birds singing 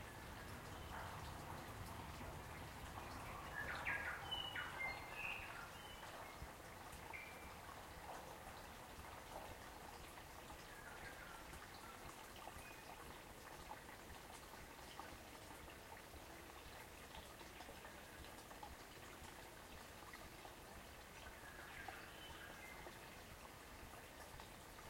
0:03.2 0:06.1

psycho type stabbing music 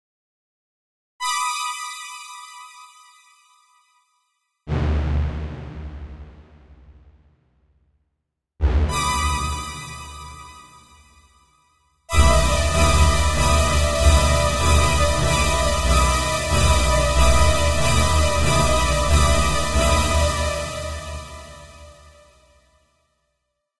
0:04.7 0:07.4, 0:08.6 0:11.0, 0:12.1 0:22.2

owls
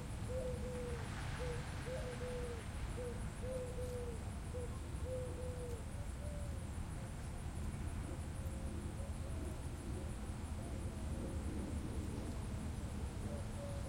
0:00.3 0:06.6

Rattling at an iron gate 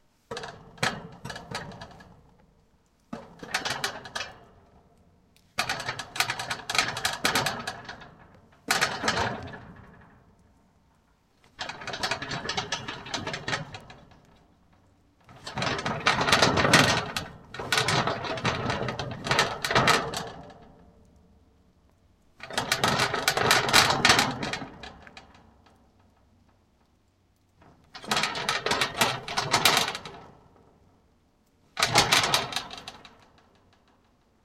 0:00.3 0:02.3, 0:03.1 0:04.7, 0:05.6 0:10.3, 0:11.5 0:20.8, 0:22.4 0:25.7, 0:27.6 0:30.5, 0:31.8 0:34.1

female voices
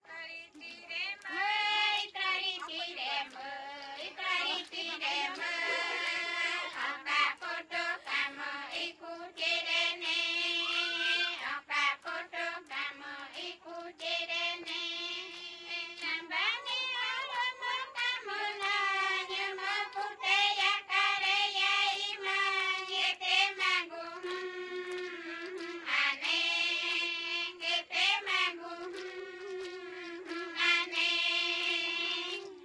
0:00.1 0:07.0, 0:16.0 0:20.6

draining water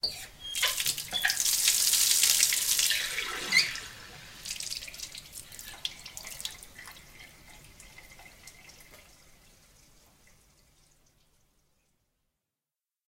0:00.5 0:10.7

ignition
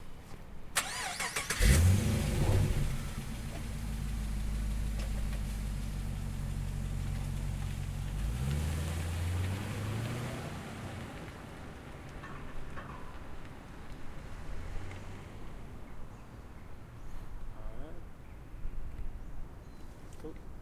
0:00.8 0:04.2

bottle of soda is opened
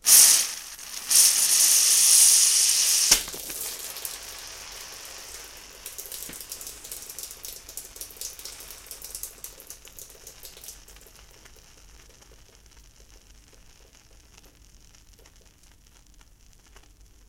0:00.1 0:04.2

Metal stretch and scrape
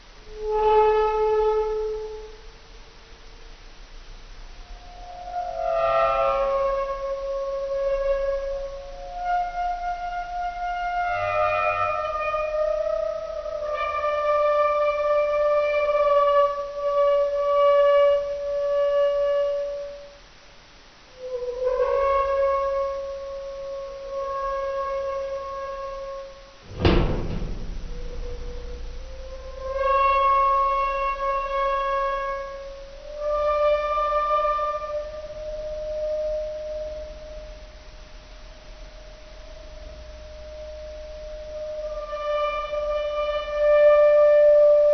0:24.3 0:32.6

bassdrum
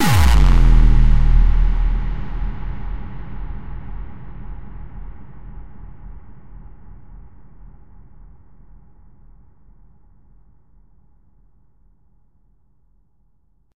0:00.0 0:08.0

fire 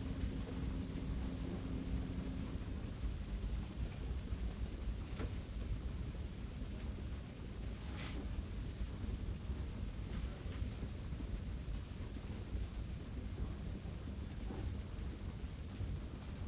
0:03.6 0:16.4

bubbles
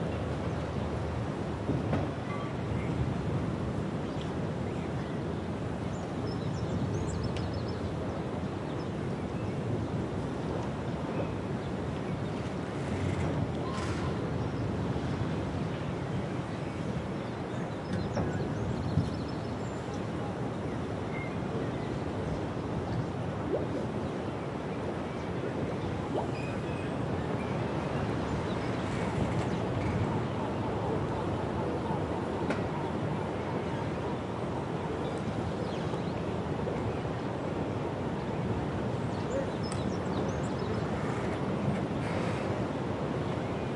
0:23.4 0:24.1, 0:24.9 0:26.6

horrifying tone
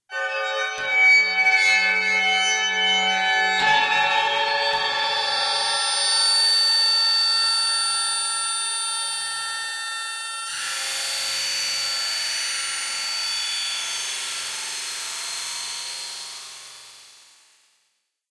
0:03.6 0:10.6

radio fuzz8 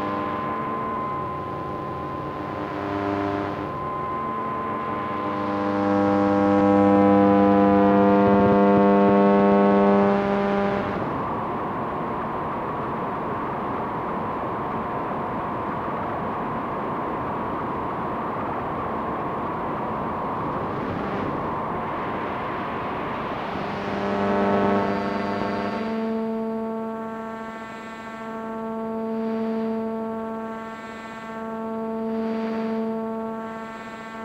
0:00.0 0:11.3, 0:20.0 0:34.2

